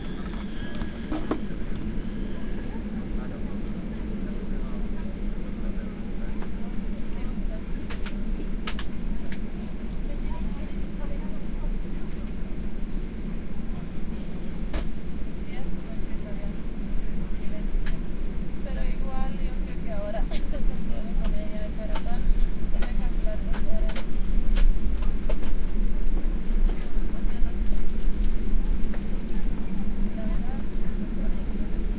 0.0s airplane 31.9s

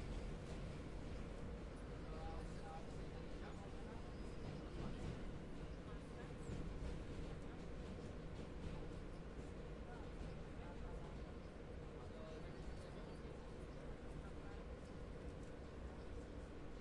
0.0s Subway ride 16.8s

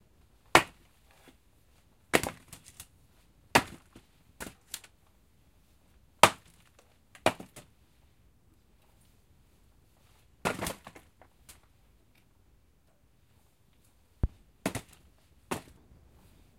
10.4s logs being thrown into basket 11.6s

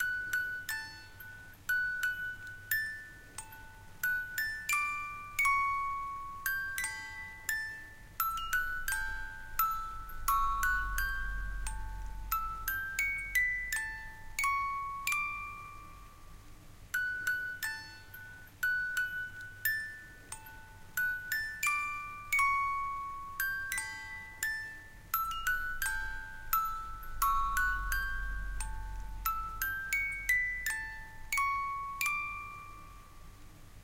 0.0s old music box playing Brahms' Lullaby 33.8s

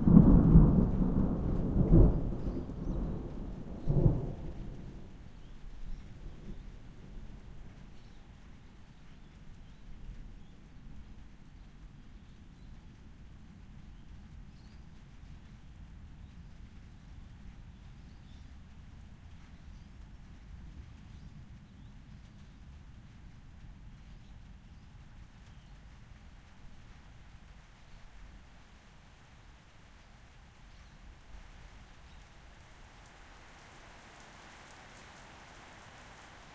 0.0s thunder 6.8s
0.0s rain 36.5s

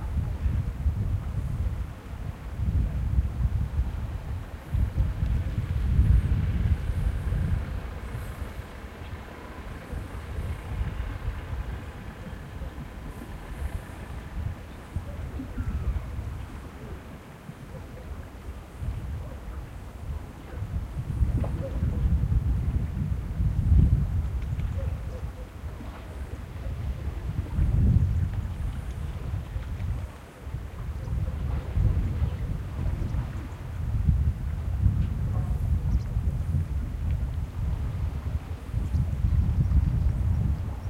0.0s boats in the distance 40.8s
0.0s wind 40.8s
6.8s aquatic animals 19.8s

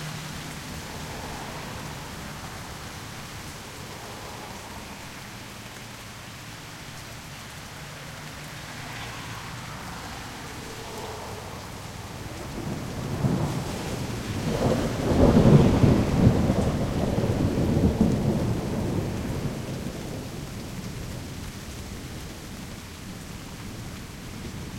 0.0s rain 24.7s
10.8s thunder 20.9s

